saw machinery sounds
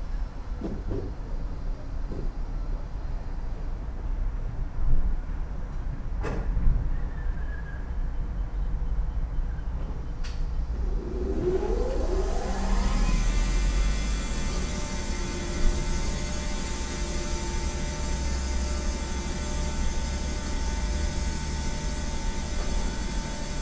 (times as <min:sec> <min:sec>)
0:10.5 0:23.6